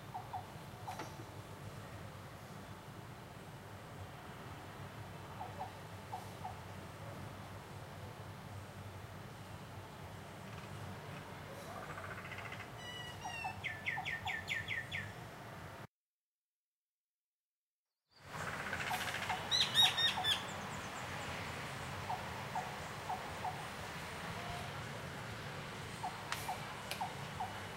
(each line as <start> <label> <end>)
0.0 birds 1.3
10.4 birds 15.2
18.2 birds 25.1
25.7 birds 27.7